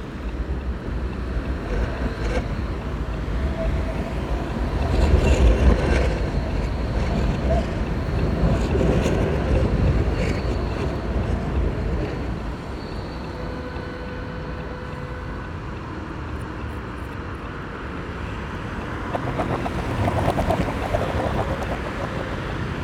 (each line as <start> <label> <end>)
0.0 cyclists pass in droves 13.4
0.0 Trams rumble and clatter heavily across steel rails 22.8
0.0 tyres flap rhythmically over the tram tracks 12.8
17.4 cyclists pass in droves 22.8
18.4 Rush hour traffic rhythms 22.8
18.4 tyres flap rhythmically over the tram tracks 22.8